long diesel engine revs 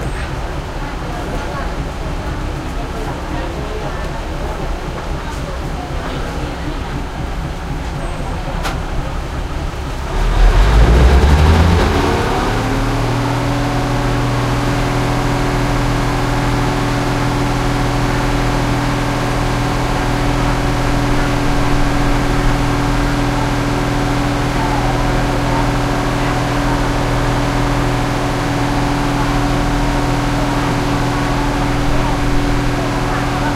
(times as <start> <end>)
8.8 33.5